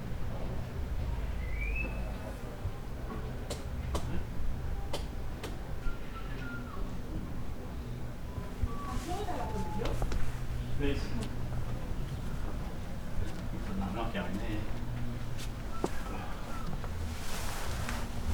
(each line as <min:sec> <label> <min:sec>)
0:01.4 whistling man working nearby 0:02.2
0:05.8 whistling man working nearby 0:06.8
0:15.7 whistling man working nearby 0:16.9